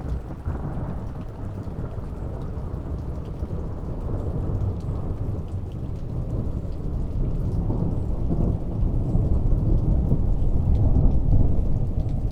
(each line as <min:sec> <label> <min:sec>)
0:00.0 rain 0:12.3